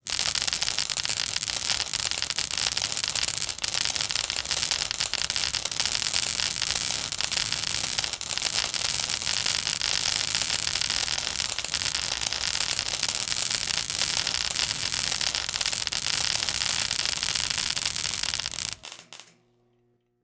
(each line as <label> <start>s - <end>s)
continuous electricity zapping spark sounds 0.0s - 19.4s